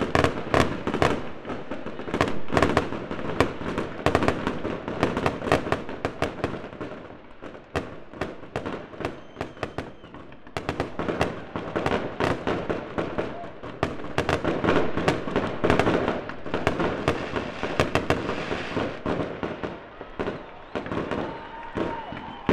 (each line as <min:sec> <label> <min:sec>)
0:00.0 Fireworks 0:22.5